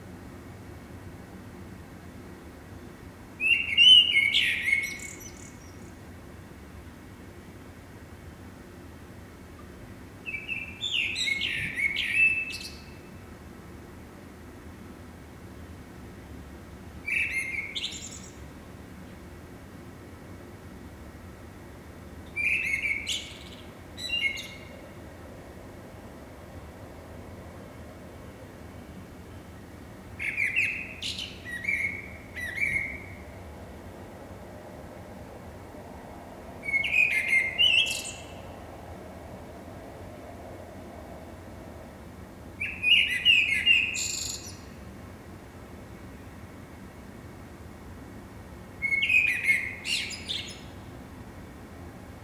blackbird 0:10.3 - 0:13.0

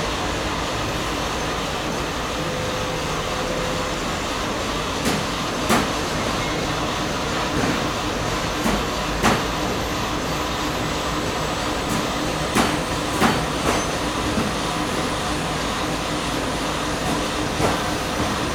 voice of the factory 0:00.0 - 0:18.5

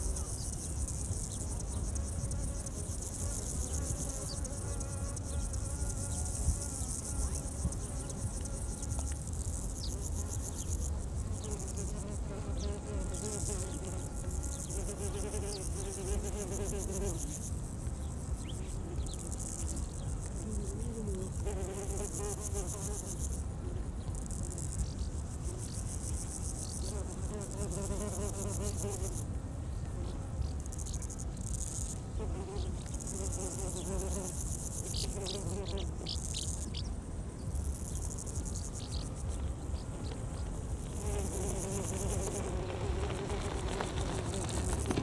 many insects 0:00.0 - 0:45.0
cyclists 0:39.0 - 0:45.0
pedestrians 0:39.4 - 0:45.0

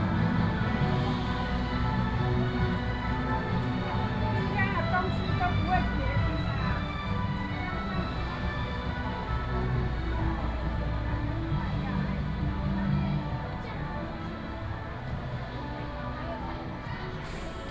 Elementary school students show 0:00.0 - 0:17.7
Walking on the road 0:00.0 - 0:17.7

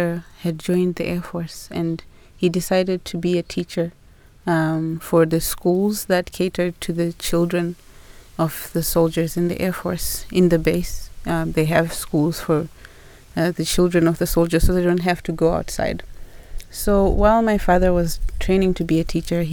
strong wind 0:08.3 - 0:19.5

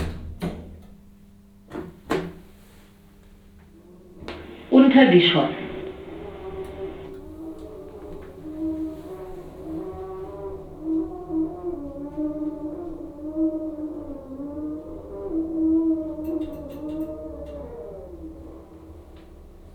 elevator 0:04.1 - 0:14.2
flower sellers talking 0:04.3 - 0:07.1

